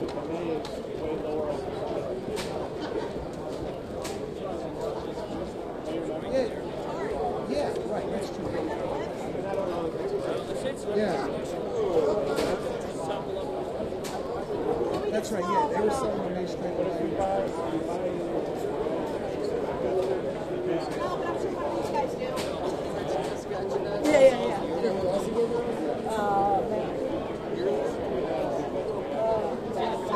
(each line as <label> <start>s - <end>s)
groups of people talking in the background 0.0s - 30.1s